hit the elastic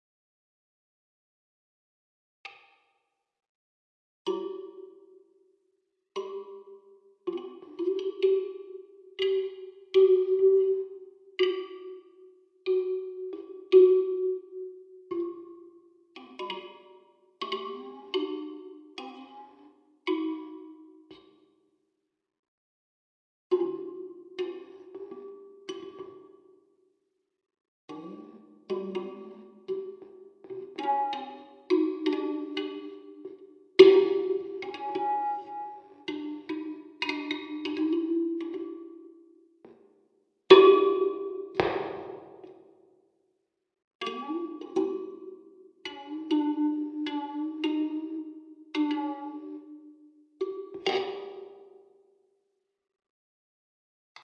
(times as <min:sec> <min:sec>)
0:41.6 0:42.7